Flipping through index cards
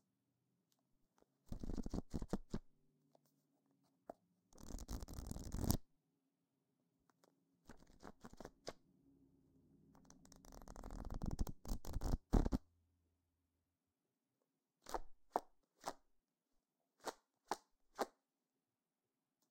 0:01.5 0:02.6, 0:04.6 0:05.8, 0:07.1 0:08.8, 0:10.1 0:12.6

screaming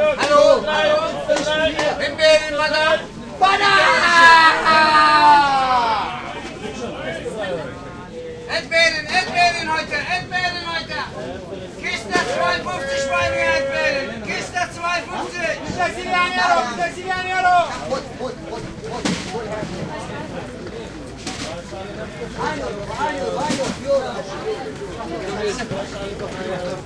0:03.6 0:06.3

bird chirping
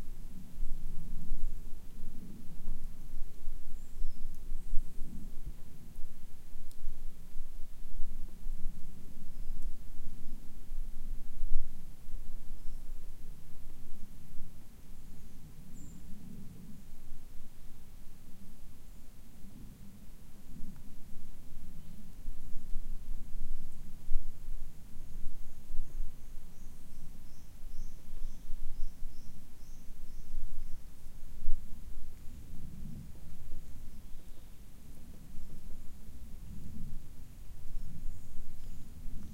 0:25.8 0:30.8, 0:37.7 0:39.0

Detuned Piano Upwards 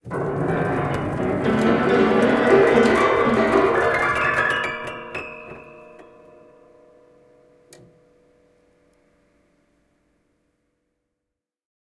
0:00.0 0:08.4

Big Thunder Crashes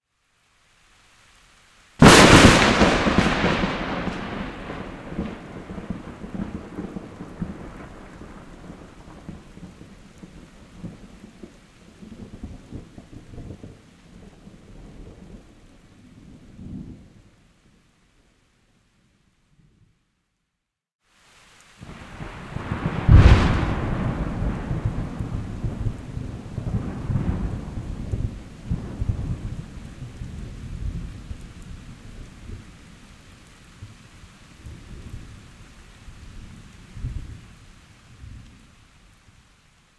0:02.0 0:08.2, 0:22.5 0:28.0

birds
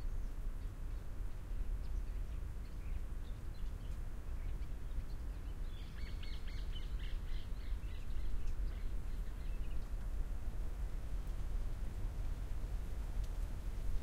0:00.0 0:10.2

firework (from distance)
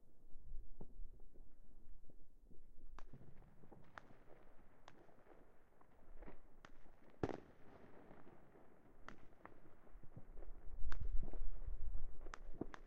0:02.6 0:12.8

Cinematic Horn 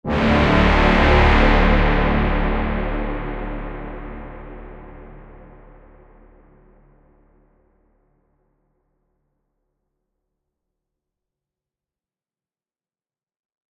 0:00.0 0:07.6

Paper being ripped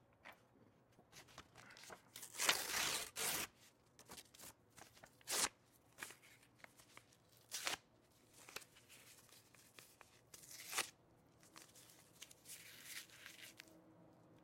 0:02.2 0:03.5

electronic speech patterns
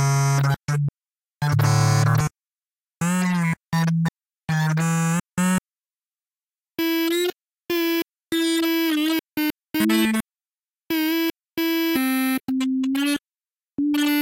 0:13.8 0:14.2

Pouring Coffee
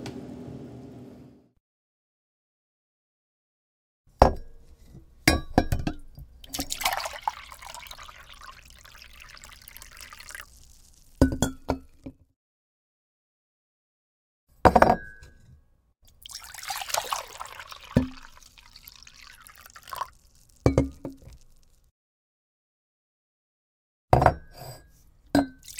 0:06.4 0:12.0, 0:16.1 0:21.9

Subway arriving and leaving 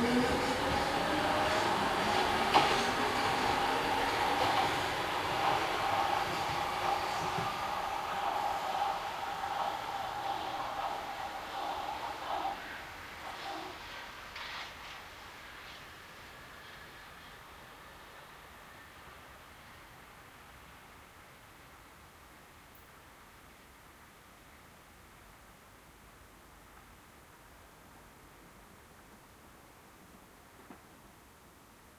0:00.0 0:23.4

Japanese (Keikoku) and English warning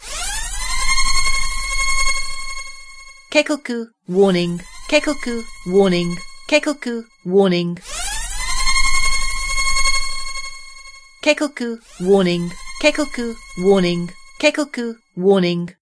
0:03.3 0:07.8, 0:11.2 0:15.8

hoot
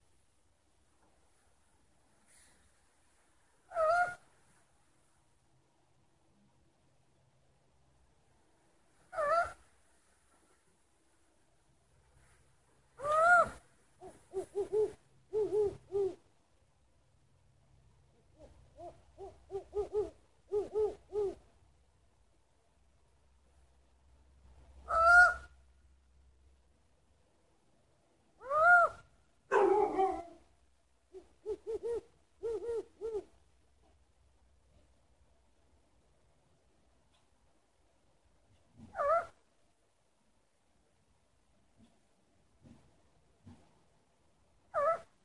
0:03.7 0:04.2, 0:09.1 0:09.6, 0:13.0 0:16.2, 0:18.4 0:21.4, 0:24.9 0:25.5, 0:28.4 0:29.0, 0:31.2 0:33.3, 0:38.9 0:39.4, 0:44.7 0:45.1

